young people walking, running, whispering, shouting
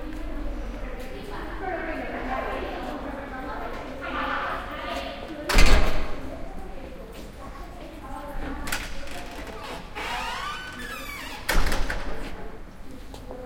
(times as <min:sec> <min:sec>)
0:00.0 0:10.0